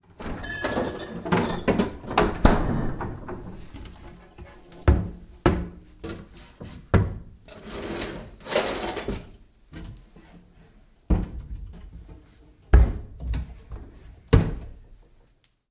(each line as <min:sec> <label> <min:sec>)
0:00.1 Opening Refrigerator Drawers and Cabinets 0:04.7
0:07.5 Opening Refrigerator Drawers and Cabinets 0:09.4